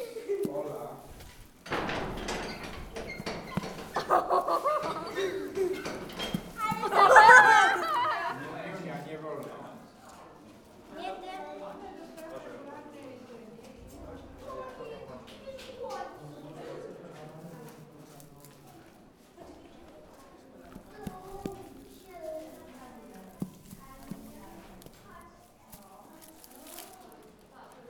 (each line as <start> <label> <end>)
1.8 kids excited about the presence of the animal 8.6